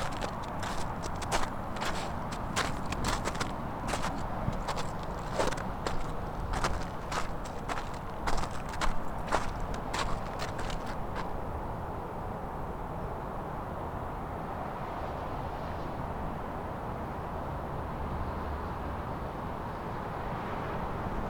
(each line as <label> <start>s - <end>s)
water 0.0s - 13.4s